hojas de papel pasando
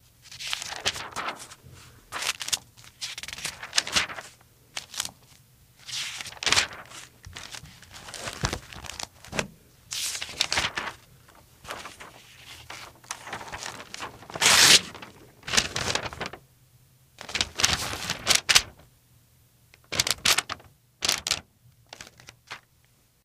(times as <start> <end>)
0.4 5.2, 5.9 16.4, 17.2 18.8